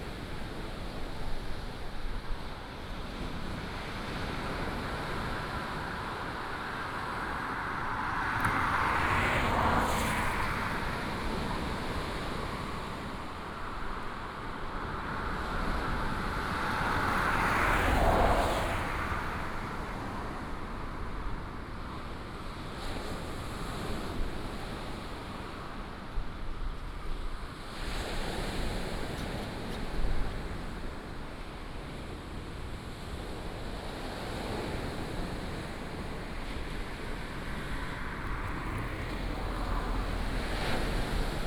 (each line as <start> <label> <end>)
0.0 waves 41.4
4.2 Traffic sound 21.6
36.0 Traffic sound 41.4